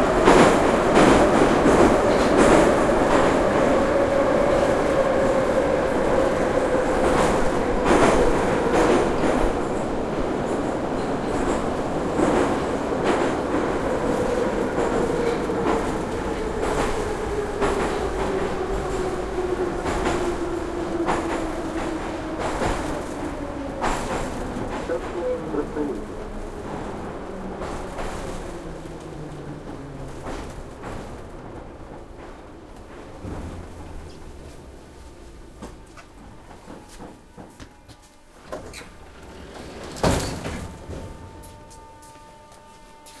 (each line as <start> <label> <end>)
0.0 subway ride 43.2
24.8 announcements 26.2
24.8 people talking 26.1
35.6 doors 41.8